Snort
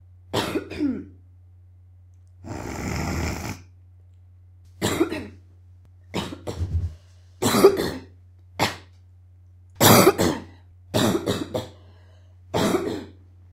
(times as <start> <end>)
2.4 3.7